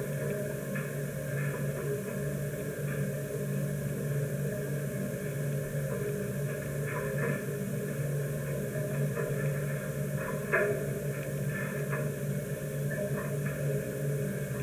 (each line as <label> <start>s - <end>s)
inside the metal tower of the wind generator 0.0s - 14.6s